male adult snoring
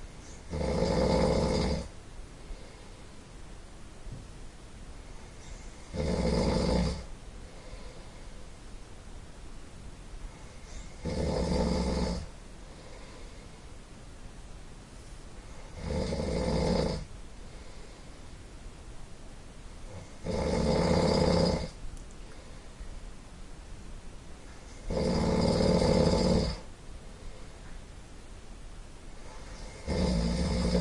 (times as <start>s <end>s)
0.5s 1.9s, 5.9s 7.1s, 10.7s 12.3s, 15.7s 17.1s, 19.9s 21.8s, 24.8s 26.7s, 29.3s 30.8s